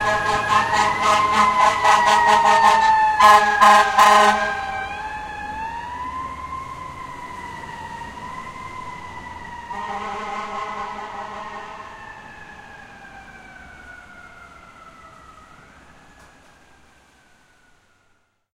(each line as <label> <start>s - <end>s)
firetruck with blaring horns 0.0s - 5.8s
firetruck with blaring horns 9.4s - 13.1s